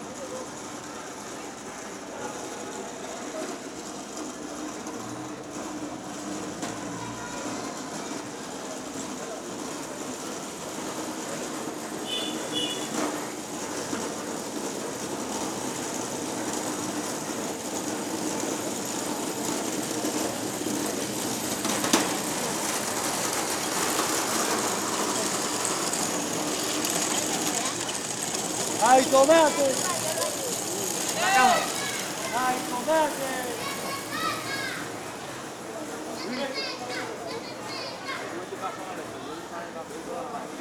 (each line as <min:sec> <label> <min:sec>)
0:00.0 street sounds 0:40.6
0:00.0 street vendors with handcarts 0:40.6
0:00.0 wheels made of ball bearings 0:39.1